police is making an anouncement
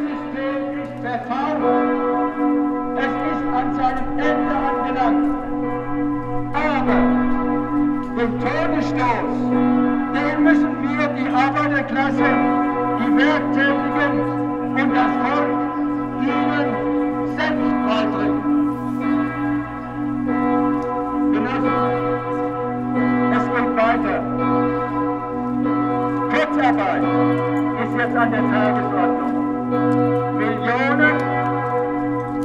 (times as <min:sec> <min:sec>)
0:03.0 0:05.2, 0:08.2 0:09.5, 0:10.2 0:15.6, 0:16.2 0:18.4, 0:23.2 0:24.4, 0:26.2 0:27.0, 0:27.8 0:29.2, 0:30.4 0:31.3